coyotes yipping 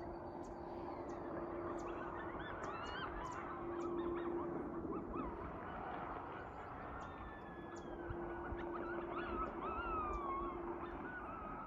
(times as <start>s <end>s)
8.5s 11.6s